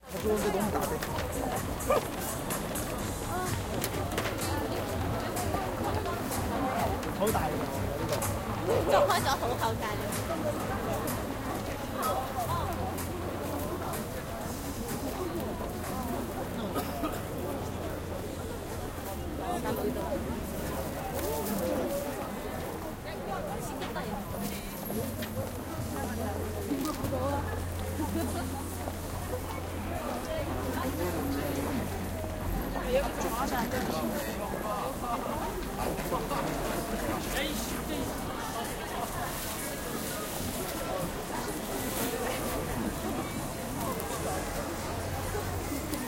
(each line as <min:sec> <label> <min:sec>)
0:00.0 People in a busy street 0:46.0
0:00.0 subway metro 0:46.0
0:00.0 Music in the background 0:17.4